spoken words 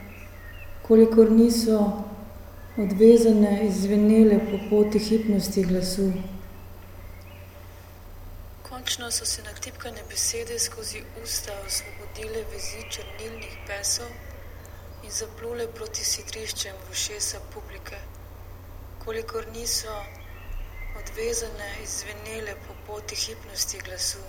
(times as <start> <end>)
0.8 6.5, 8.7 14.3, 15.0 18.1, 19.0 20.2, 21.0 24.2